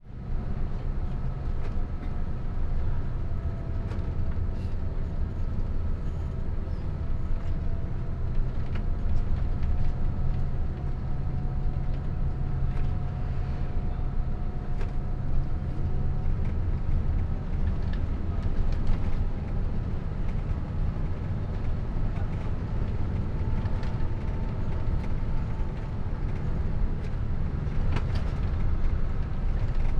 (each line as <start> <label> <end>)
0.0 engine 29.9